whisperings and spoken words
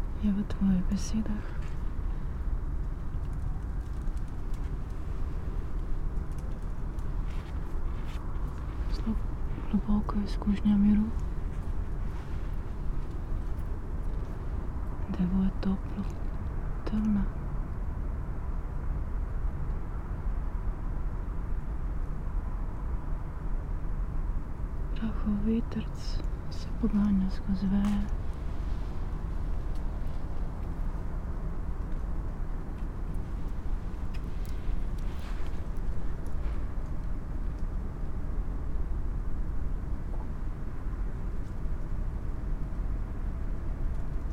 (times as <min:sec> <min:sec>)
0:00.2 0:01.7, 0:08.8 0:11.2, 0:16.8 0:17.3, 0:25.0 0:28.2